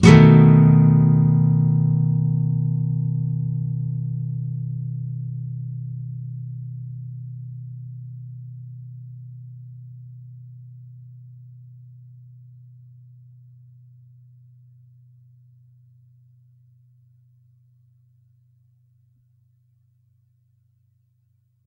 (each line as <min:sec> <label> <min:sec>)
0:00.0 nylon guitar 0:08.7